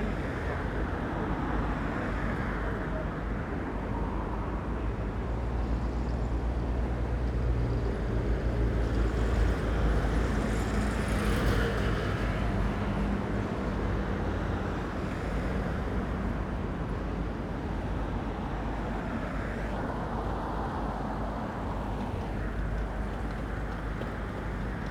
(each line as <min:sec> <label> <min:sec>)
0:00.0 traffic 0:24.9
0:14.8 passing river taxi 0:24.9